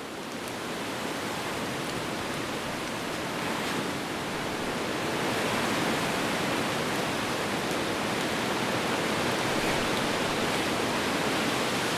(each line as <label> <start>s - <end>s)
raining 0.0s - 11.9s